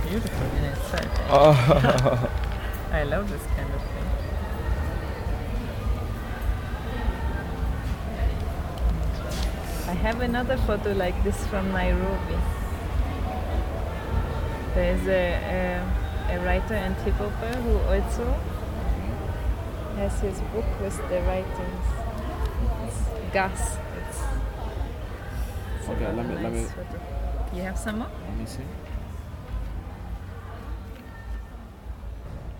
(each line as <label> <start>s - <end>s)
many voices in the air 0.0s - 31.9s
music 0.0s - 32.5s